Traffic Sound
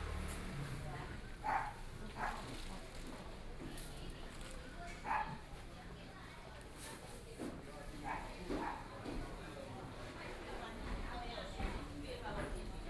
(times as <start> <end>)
0.0 1.3